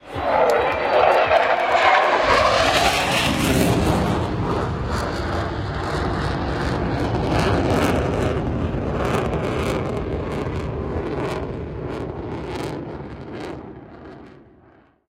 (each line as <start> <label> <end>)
0.0 fighter jet 14.9